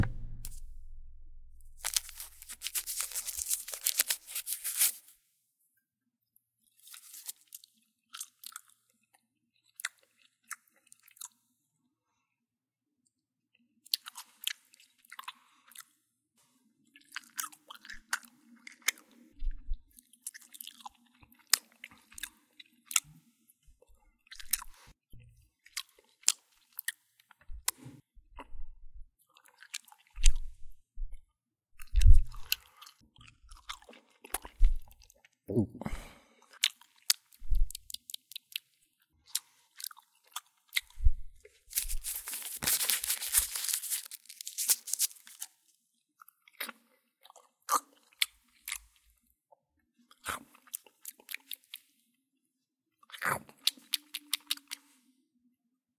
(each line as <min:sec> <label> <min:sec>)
0:01.8 unwrapping a stick of gum 0:05.1
0:06.8 unwrapping a stick of gum 0:07.7
0:17.0 chewing noises 0:19.2
0:19.9 chewing noises 0:23.2
0:31.8 chewing noises 0:35.4
0:41.6 unwrapping a stick of gum 0:45.7
0:46.2 chewing noises 0:49.0
0:50.1 chewing noises 0:51.9
0:53.0 chewing noises 0:54.9